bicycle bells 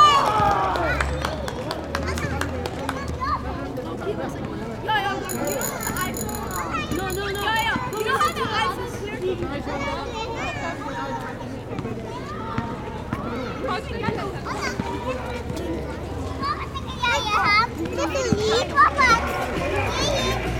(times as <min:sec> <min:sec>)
0:05.2 0:08.8